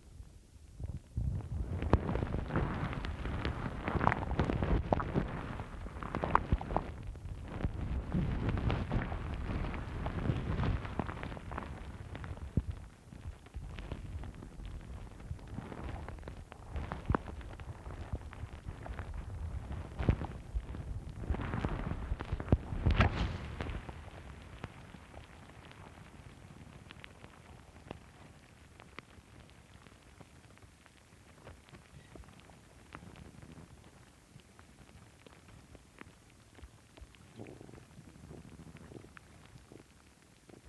1.6s Sphagnum Moss 27.5s

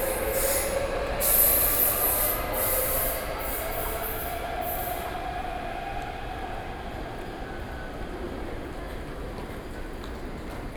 0.0s MRT trains 10.7s

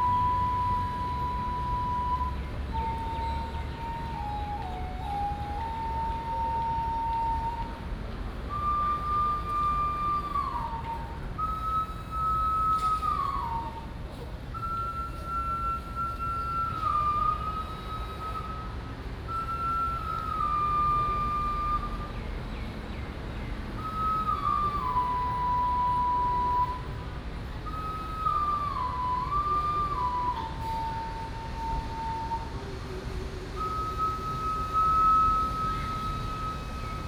0.0s Traffic Sound 37.0s

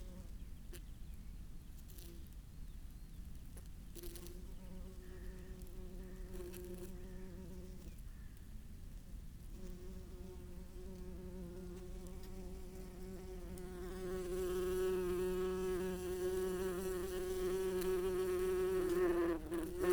0.0s background noise 19.9s
9.6s Open bees nest 19.9s

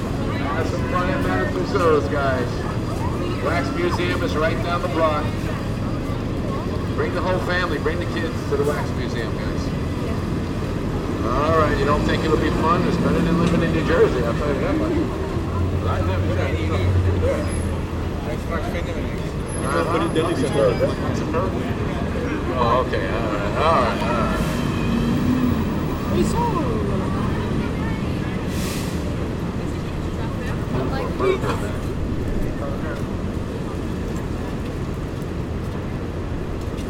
0.0s Street announcer selling discount tickets 10.0s
11.1s Street announcer selling discount tickets 28.5s

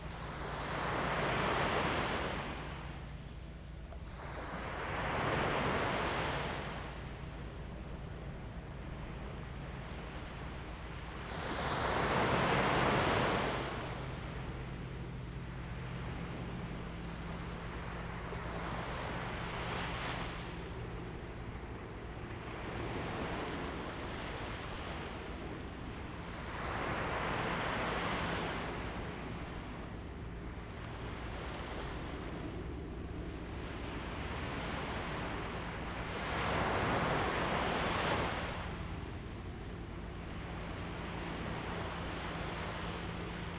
0.0s waves 43.5s

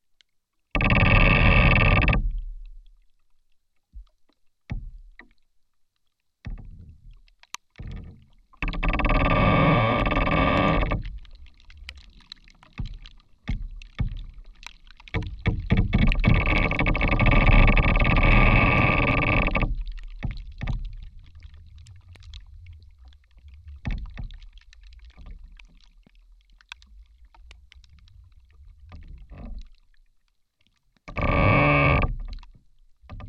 0.7s Creaking rotten tree 2.5s
2.2s slight rain is also heard falling on the tree's surface 33.2s
7.8s Creaking rotten tree 26.0s
27.5s Creaking rotten tree 29.8s
31.0s Creaking rotten tree 33.2s

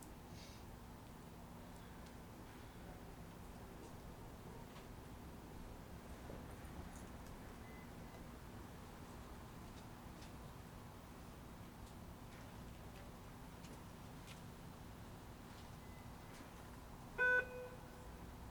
0.0s train pulls in, loads, and continues on its way 18.5s
7.6s Periodic beeps from overhead speakers 8.3s
15.6s Periodic beeps from overhead speakers 16.6s
17.2s Periodic beeps from overhead speakers 18.2s

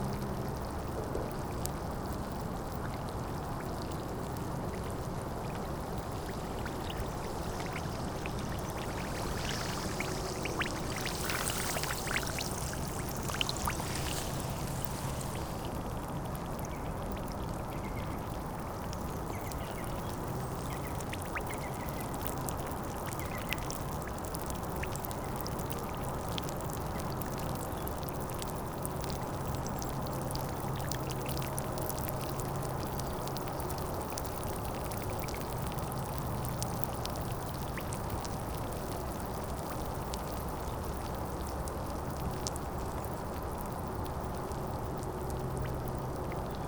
0.0s sand and gravels make a lot of small bubbles 46.6s
5.7s big wave 16.0s

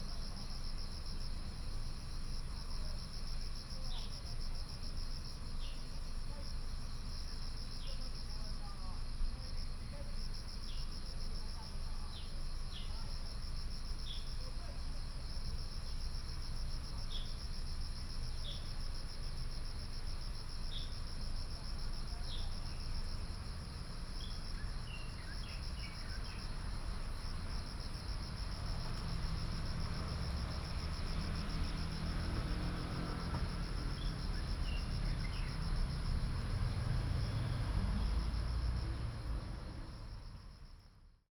0.0s Insects sound 41.3s
23.2s Traffic sound 41.2s

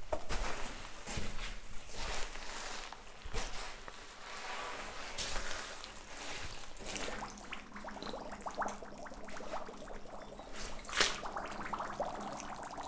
5.8s Big bubbles 12.8s

